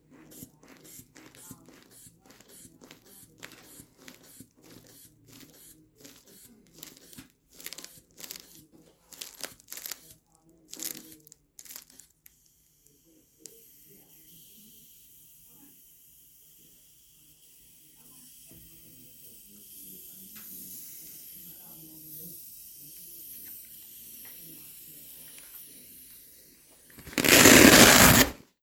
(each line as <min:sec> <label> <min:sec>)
0:00.0 blood pressure cuff air pumping and releases 0:14.6
0:09.2 velcro rip 0:10.0
0:25.2 blood pressure cuff air pumping and releases 0:28.4
0:27.0 velcro rip 0:28.4